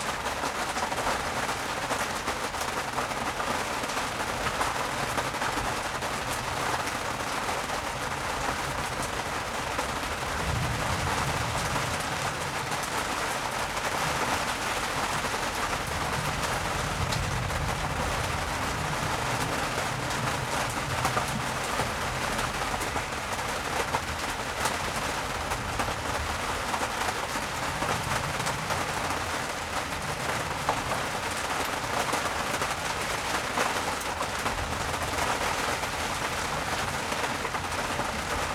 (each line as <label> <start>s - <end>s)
heavy rain hits the tarp 0.0s - 38.5s
thunderstorm 8.2s - 33.4s